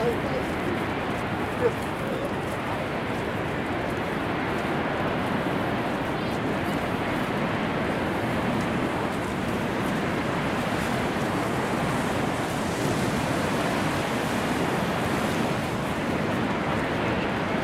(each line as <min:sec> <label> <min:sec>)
0:00.0 waterfall 0:17.6